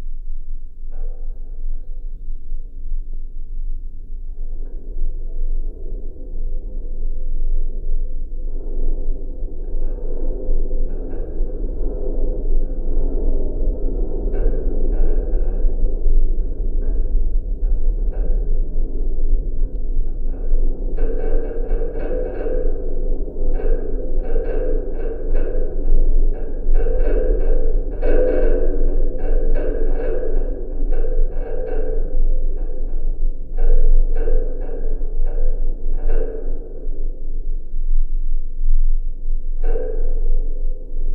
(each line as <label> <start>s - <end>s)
abandoned metallic building 0.0s - 41.1s